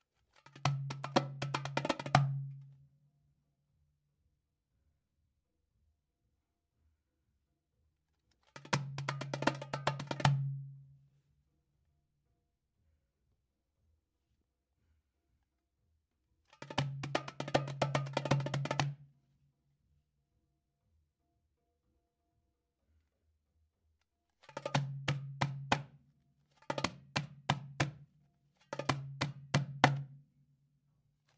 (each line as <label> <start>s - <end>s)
Darbuka Drum Percussion 0.4s - 2.8s
Darbuka Drum Percussion 8.4s - 10.9s
Darbuka Drum Percussion 16.5s - 19.1s
Darbuka Drum Percussion 24.4s - 30.4s